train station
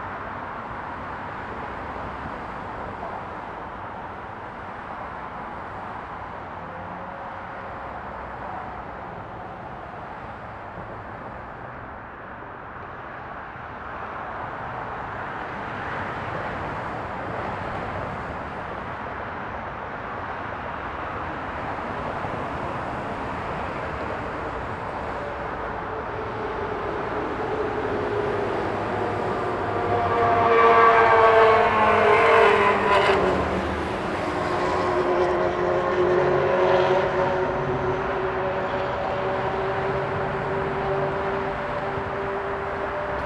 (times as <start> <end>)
0.0 30.5